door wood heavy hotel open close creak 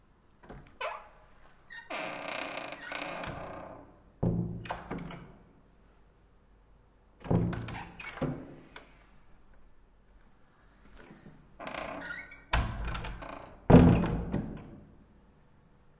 0:00.4 0:05.3, 0:07.2 0:08.8, 0:11.0 0:14.8

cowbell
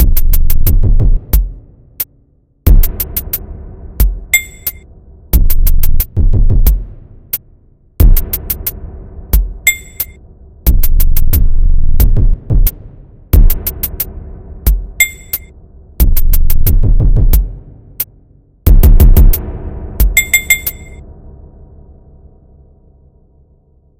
0:09.7 0:10.2, 0:20.2 0:21.0

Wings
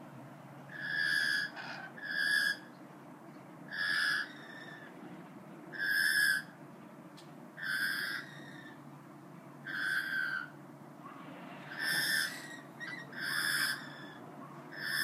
0:09.7 0:15.0

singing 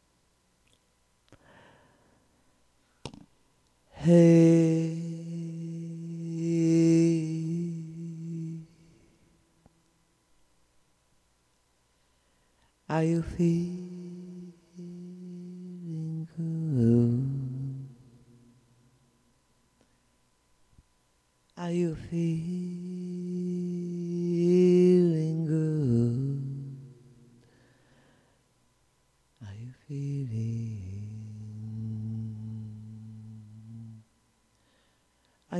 0:03.9 0:09.2, 0:12.9 0:18.1, 0:21.6 0:27.2, 0:29.4 0:34.0

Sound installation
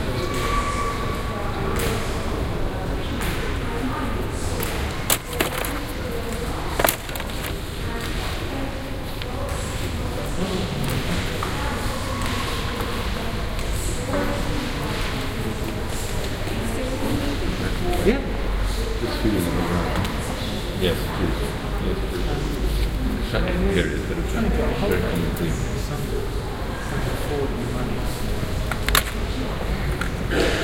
0:06.8 0:07.6

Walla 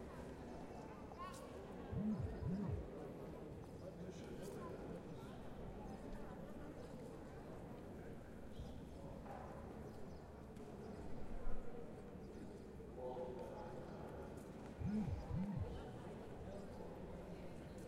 0:02.0 0:02.8, 0:14.8 0:15.7

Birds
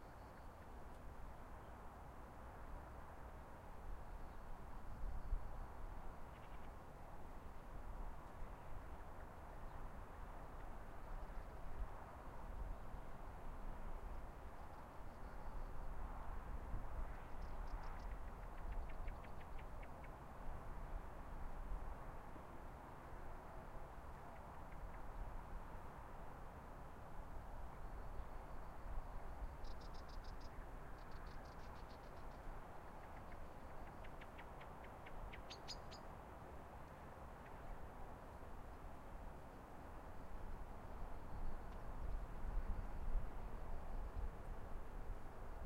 0:29.6 0:36.1

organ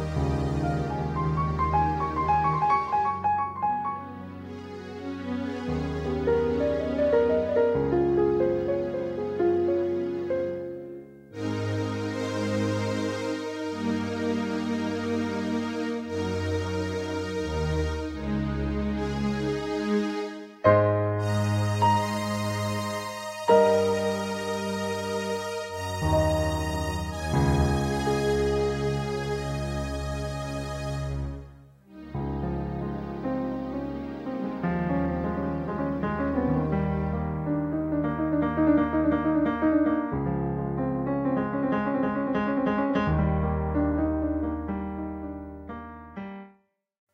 0:21.0 0:37.1

